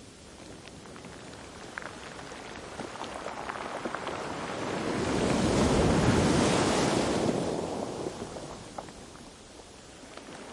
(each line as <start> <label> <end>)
0.4 stones roll under water 6.8
1.4 the bag and surf of the waves 10.5